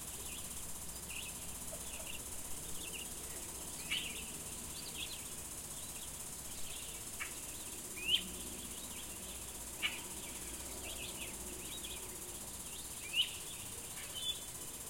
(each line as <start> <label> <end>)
0.0 coyote 14.8